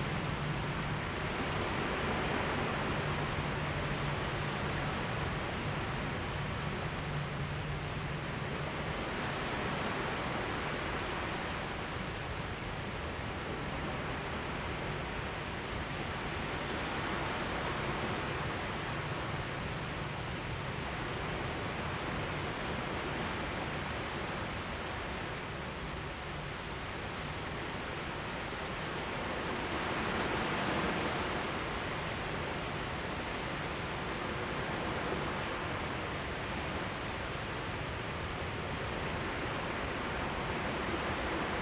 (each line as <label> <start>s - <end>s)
waves 0.0s - 41.6s